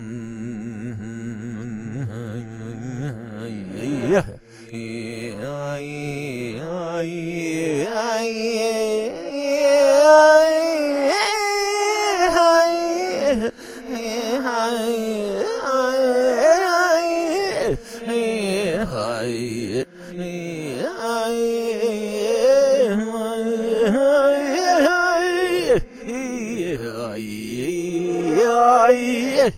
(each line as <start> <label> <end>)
0.0 Reversed Faux Native American Chant 29.5